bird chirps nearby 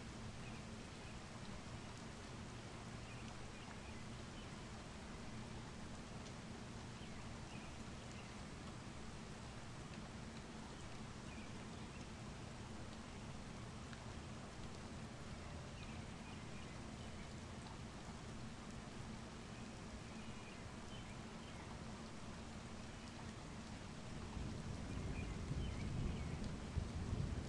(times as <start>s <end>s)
19.6s 21.7s